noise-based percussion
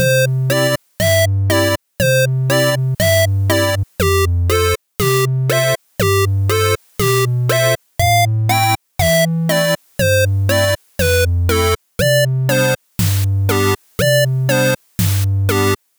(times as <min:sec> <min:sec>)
0:09.0 0:15.8